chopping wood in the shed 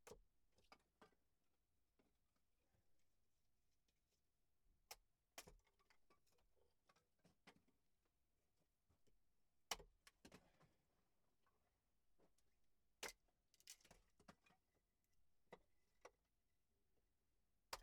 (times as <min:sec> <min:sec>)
0:09.6 0:10.7, 0:12.9 0:14.6